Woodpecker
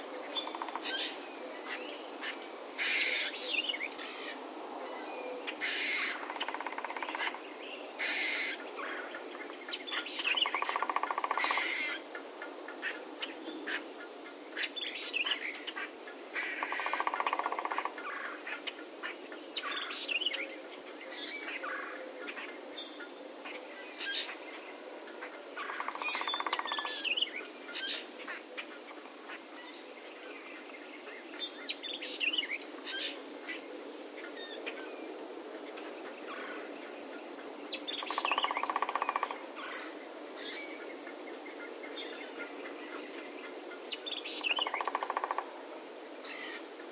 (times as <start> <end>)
0.4 1.2, 5.6 7.4, 10.3 12.0, 16.5 18.4, 25.6 27.0, 38.0 39.9, 44.4 45.6